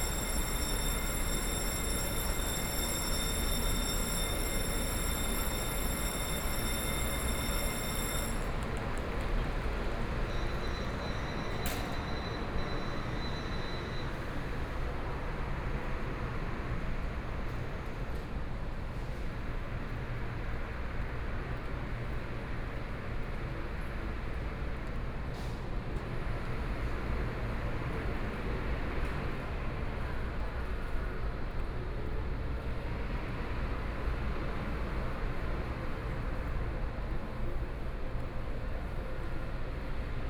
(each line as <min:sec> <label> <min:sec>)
0:00.0 Train passes 0:25.1
0:00.0 Train arrived 0:40.2